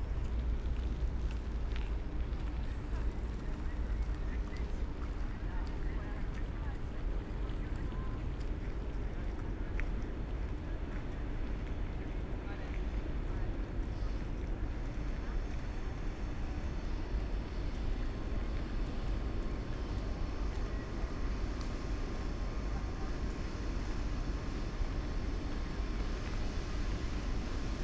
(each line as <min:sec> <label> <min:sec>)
0:09.4 trains and their echos reflecting from the walls 0:27.8